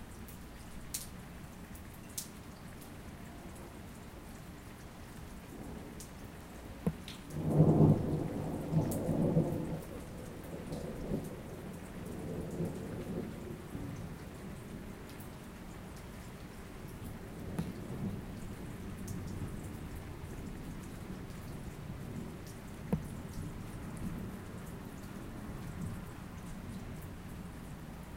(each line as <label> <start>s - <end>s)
rain 0.0s - 28.1s
thunder 6.9s - 11.3s